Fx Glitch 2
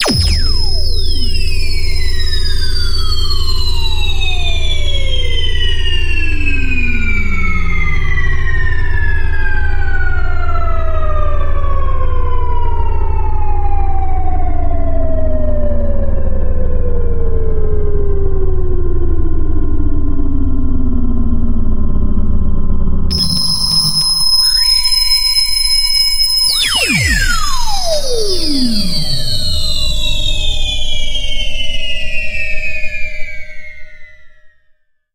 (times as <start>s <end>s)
0.0s 2.2s, 23.1s 31.2s